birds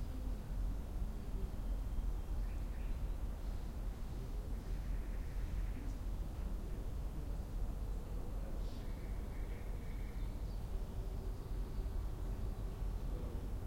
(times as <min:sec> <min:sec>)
0:01.6 0:03.8, 0:04.4 0:06.1, 0:08.6 0:13.4